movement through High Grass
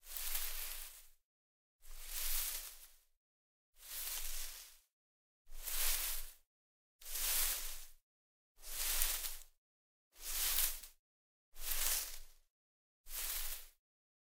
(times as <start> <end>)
0.0 1.2, 1.8 3.0, 3.8 4.9, 5.5 6.4, 7.0 8.0, 8.6 9.5, 10.2 10.9, 11.6 12.4, 13.1 13.8